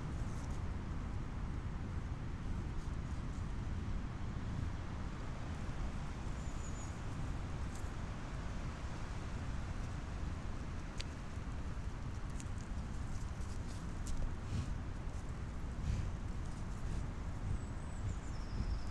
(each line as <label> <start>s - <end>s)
breathing of european bison 15.8s - 16.2s